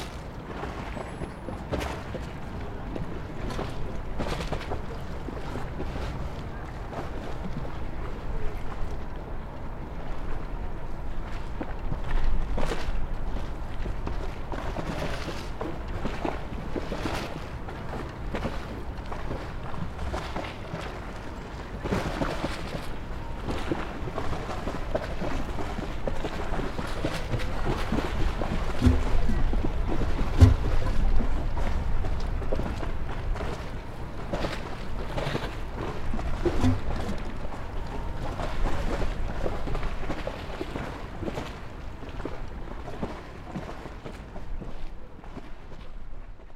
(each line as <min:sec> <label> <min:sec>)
0:00.0 Water 0:46.5